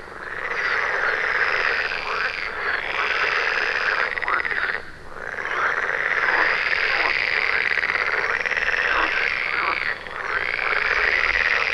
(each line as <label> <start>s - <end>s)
frogs in a pond ribbit loudly 0.0s - 11.7s